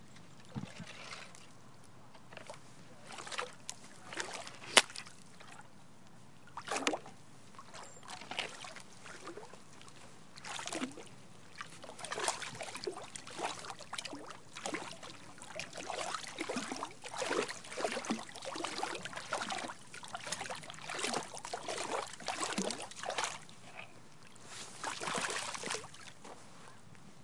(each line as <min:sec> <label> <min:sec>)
0:00.0 wooden stick stirring and splashing gentle flowing water 0:05.7
0:06.4 wooden stick stirring and splashing gentle flowing water 0:26.4